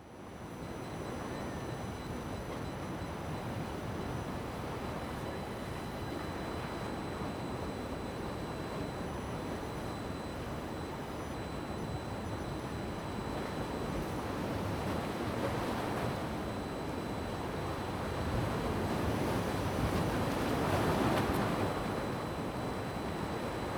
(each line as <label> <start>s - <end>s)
waves 5.0s - 23.7s